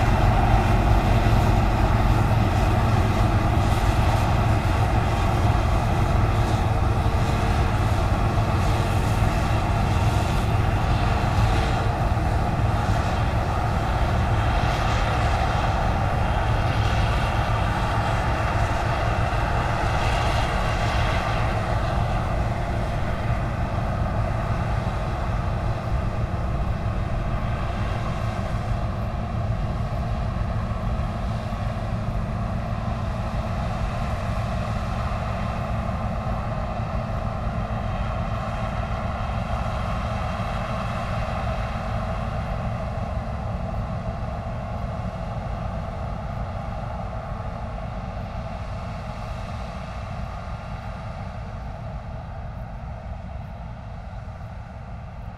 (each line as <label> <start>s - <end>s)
combine harvester in the fields, harvesting the wheat 0.0s - 55.3s